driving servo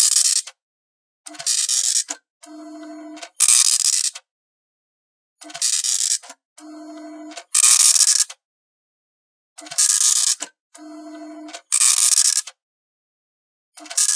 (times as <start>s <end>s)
2.4s 3.4s, 6.6s 7.5s, 10.8s 12.2s